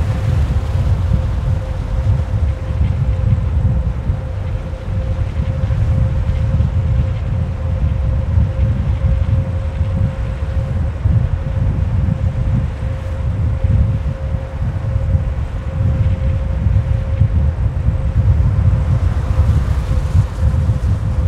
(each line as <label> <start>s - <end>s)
wind strikes the mic hard 0.0s - 21.2s